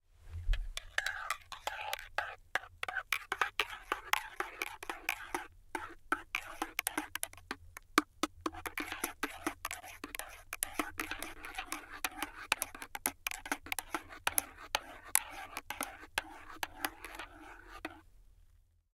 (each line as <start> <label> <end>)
0.5 spoon in mug stirring 18.0